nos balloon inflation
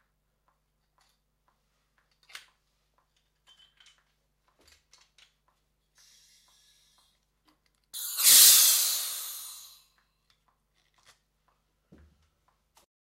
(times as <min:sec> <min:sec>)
0:08.0 0:09.8